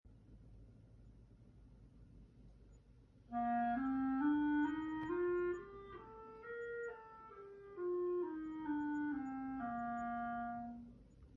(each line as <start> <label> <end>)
3.3 music 11.0